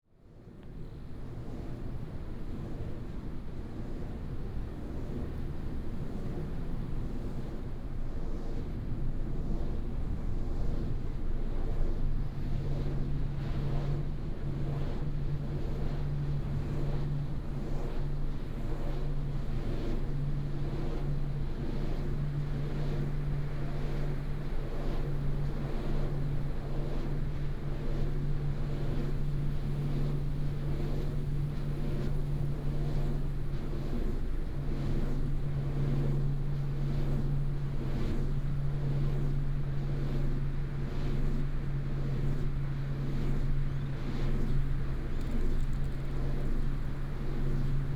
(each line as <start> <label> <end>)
0.0 wind 47.9
12.2 Wind Turbines 47.9